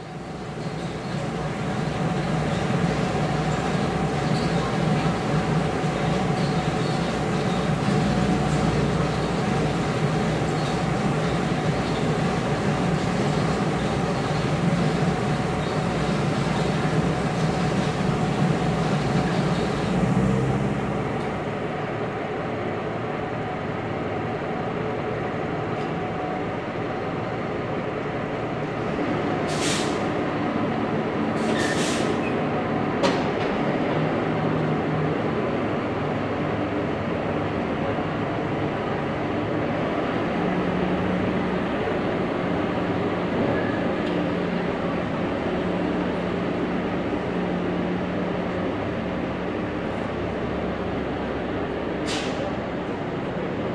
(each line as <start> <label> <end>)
0.0 noise produced by the water-cart 27.8